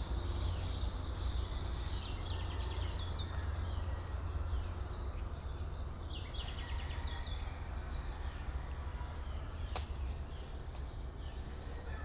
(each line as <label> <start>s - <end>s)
Singing birds all over the place 0.0s - 12.0s